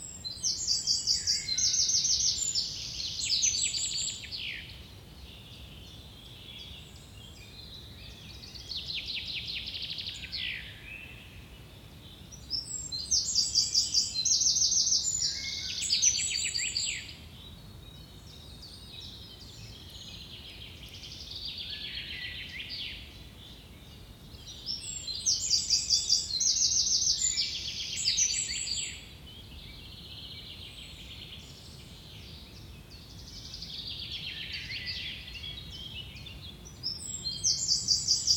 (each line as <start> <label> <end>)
0.0 birds singing 38.3